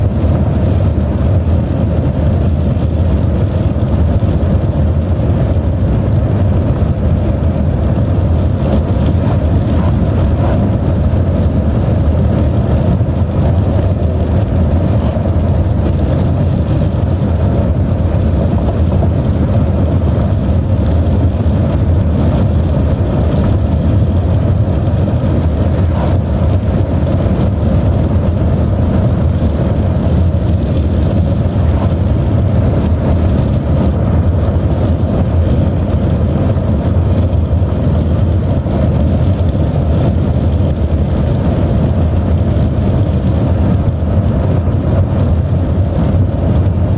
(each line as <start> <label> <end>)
0.0 Car 46.9
0.0 wind 46.9